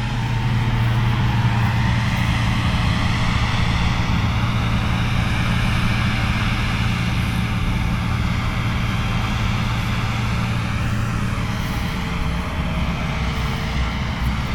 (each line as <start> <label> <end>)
0.0 combined harvester in a barley field 14.5
0.0 wind 14.5